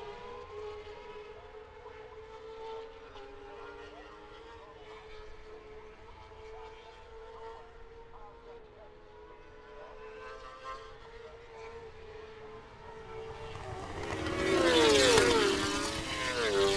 motorcycle grand prix 7.1 - 16.7

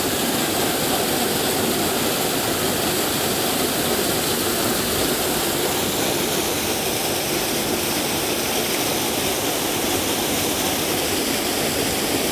small boat is ascending the canal 0.0 - 12.3

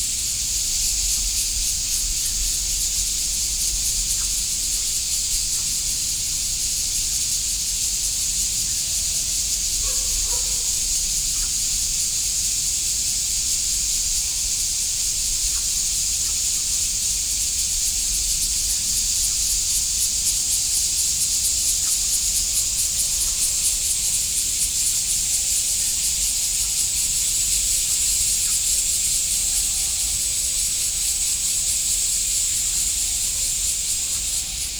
Cicadas chirping 0.0 - 34.7
The frogs 1.0 - 34.7
Dog barking 9.8 - 10.8

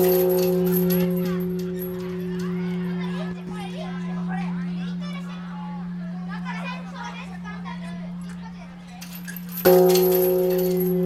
Pupils ringing the peace bell 0.0 - 11.0

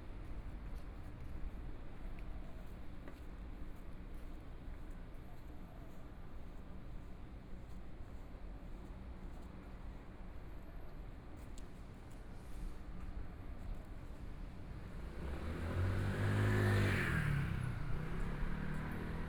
walking on the Road 13.1 - 19.2
Traffic Sound 14.7 - 19.2
Motorcycle sound 15.1 - 19.2

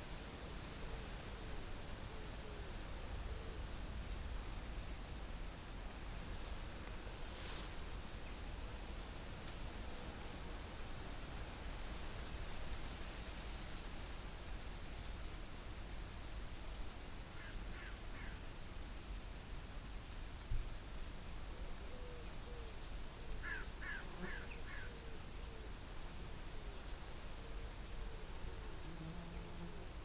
wind in leaves 0.0 - 30.0
Crows 17.4 - 18.4
Crows 23.4 - 25.0

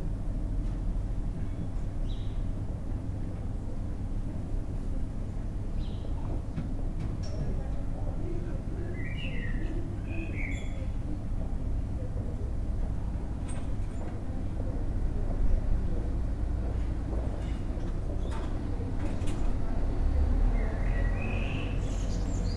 traffic noise in the distance 0.0 - 22.5
voices 3.3 - 22.5
birds 8.9 - 11.0
birds 20.5 - 22.5

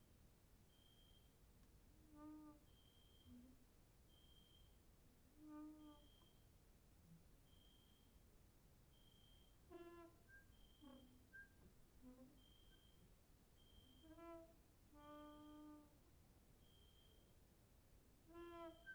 cricket outside 0.6 - 1.4
cricket outside 2.2 - 4.9
cricket outside 5.5 - 6.6
cricket outside 7.4 - 11.6
cricket outside 12.2 - 17.4
cricket outside 18.4 - 18.9

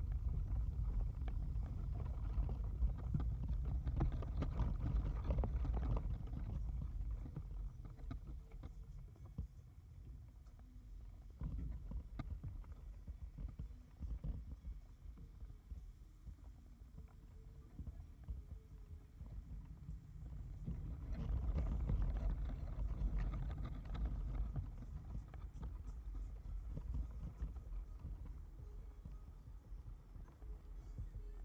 vibration in the wood of the tree 0.0 - 9.0
birch leaves looked beautiful as they shimmered in the wind 0.0 - 31.4
vibration in the wood of the tree 19.3 - 31.4

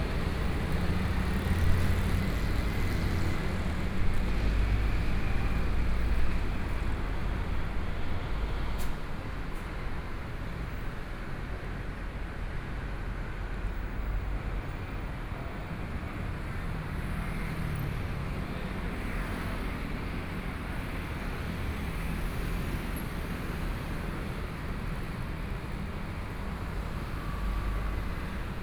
Traffic Sound 0.0 - 11.6

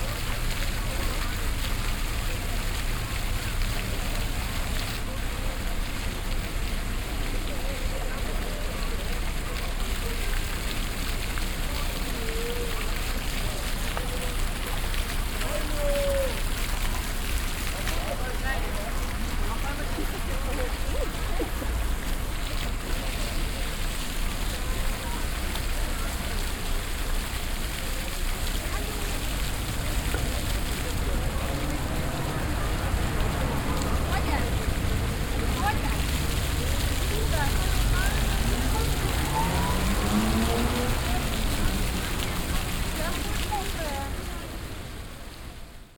passengers walking by 0.0 - 45.8
passing traffic 0.0 - 45.9
floor fountain 0.0 - 45.9
group of alcohol drinking people 29.3 - 42.9

